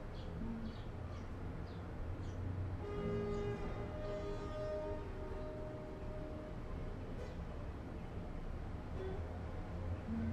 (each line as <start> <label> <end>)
0.0 street noise 10.3
0.0 train 10.3
0.1 birds 2.5